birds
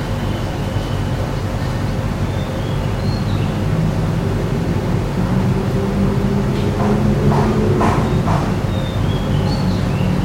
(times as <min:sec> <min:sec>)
0:00.0 0:04.5, 0:06.6 0:10.2